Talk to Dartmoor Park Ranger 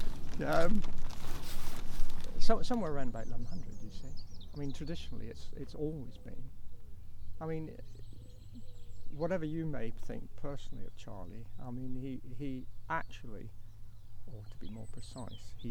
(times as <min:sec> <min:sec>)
0:02.3 0:06.6, 0:07.4 0:13.5, 0:14.3 0:15.7